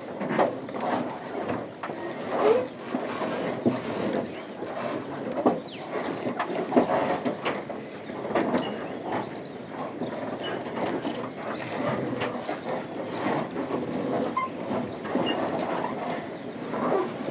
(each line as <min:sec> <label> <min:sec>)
0:00.0 very soft sound of the marina during a quiet low tide 0:17.3